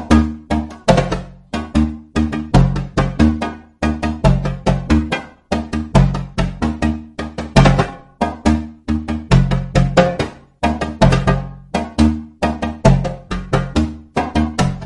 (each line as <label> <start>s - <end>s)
djembe 0.0s - 14.8s